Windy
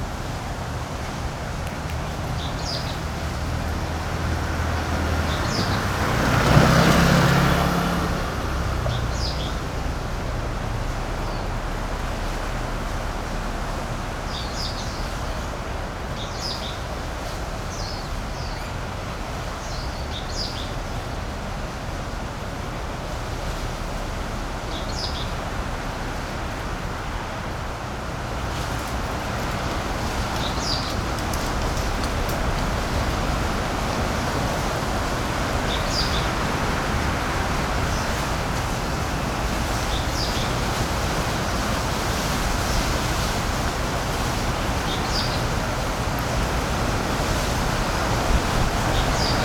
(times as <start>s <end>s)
28.0s 49.4s